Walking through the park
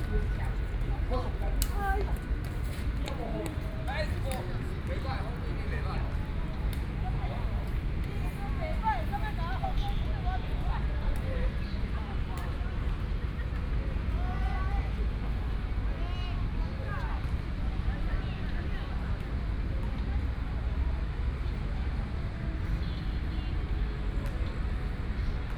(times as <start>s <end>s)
0.0s 9.8s